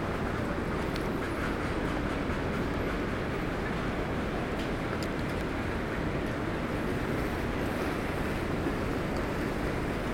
0.0s ICE train leaving 10.1s
0.0s trains 10.1s

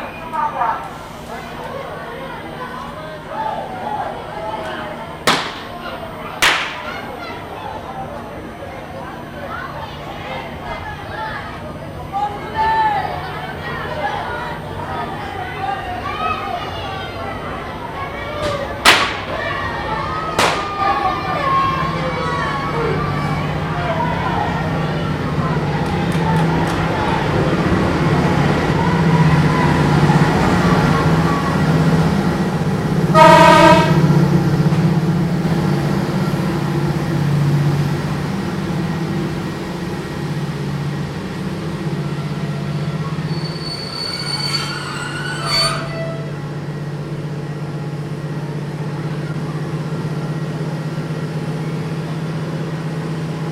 0.0s locomotive passing by 53.5s
0.0s train arrives 53.5s
1.5s Kids were shouting 32.2s
3.6s departing carriages 53.5s
5.3s firecrackers 5.8s
6.4s firecrackers 7.0s
18.8s firecrackers 19.3s

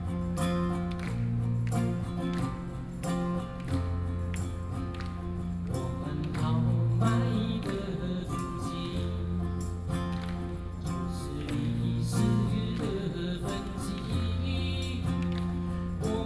0.0s Nuclear protest songs 16.2s

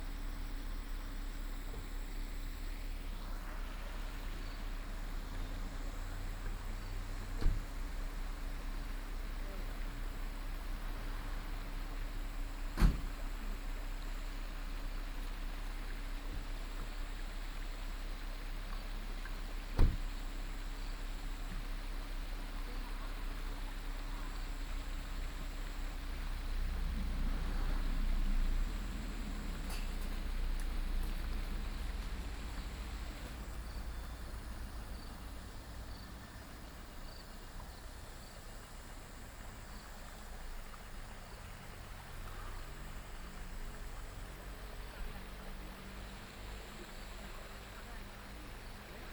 0.0s stream 49.1s
24.1s Traffic sound 49.1s

